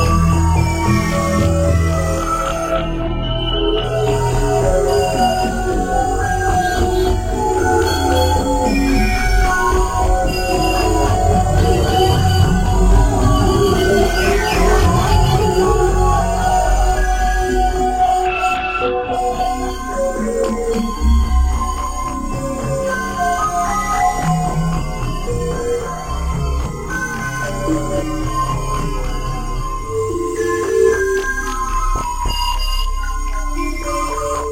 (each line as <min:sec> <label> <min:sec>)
0:00.0 dark ambient composition 0:34.5